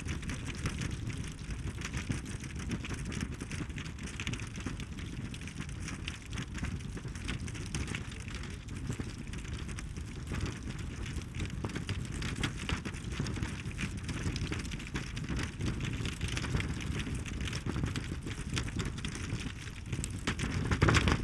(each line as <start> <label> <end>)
0.0 barrier tape fluttering in wind 21.2